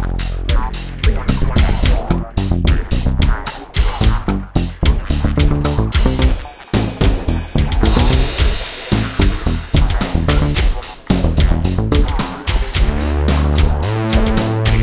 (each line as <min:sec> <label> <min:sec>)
0:00.0 Bass 0:14.8
0:00.0 Drums 0:14.8
0:00.0 Synth 0:14.8